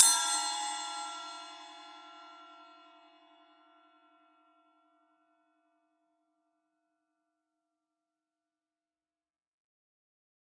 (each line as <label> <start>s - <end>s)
Bell/Splash cymbal 0.0s - 4.6s